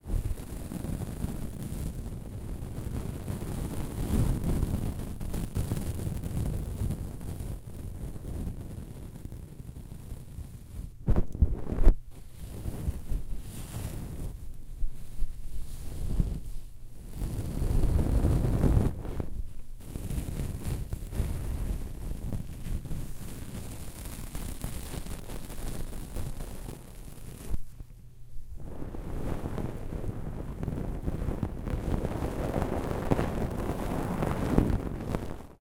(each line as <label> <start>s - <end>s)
insulation gently dragged against the grill of the mic 0.0s - 35.6s
Fibreglass insulation layers torn apart 19.9s - 27.6s